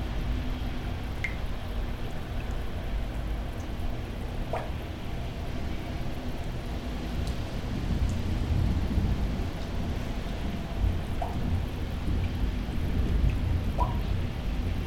0.0s raindrops 14.8s

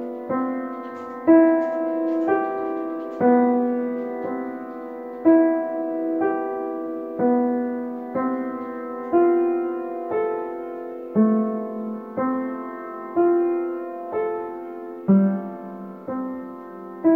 0.0s Playing a Pleyel piano 17.1s
0.0s background noise 17.1s

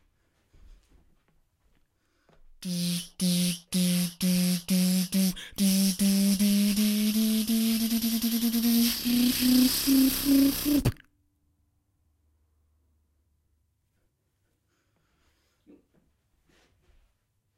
2.6s Beat-boxing 11.0s

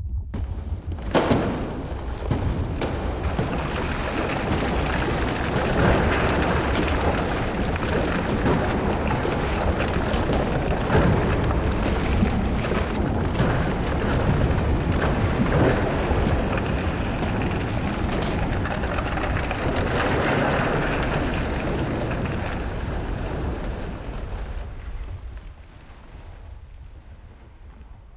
0.0s collapsing tower 28.1s

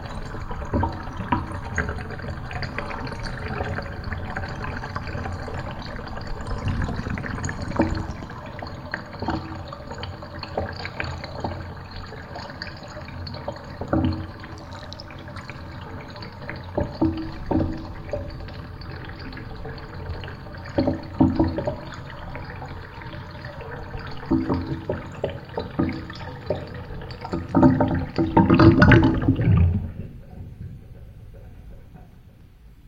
0.0s bass sound at the end when the tub empties 8.9s
0.0s gurgling sounds 31.9s
0.0s Water draining out of a bathtub 32.8s
28.0s bass sound at the end when the tub empties 31.7s

